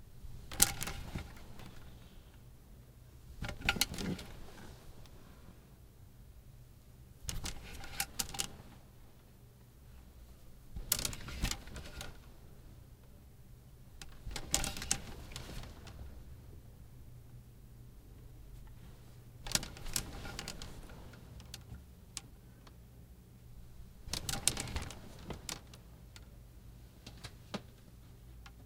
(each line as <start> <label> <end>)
0.4 moving clotheshangers 2.1
3.4 moving clotheshangers 5.2
7.3 moving clotheshangers 8.8
10.8 moving clotheshangers 12.3
14.0 moving clotheshangers 16.1
19.4 moving clotheshangers 21.7
24.1 moving clotheshangers 25.8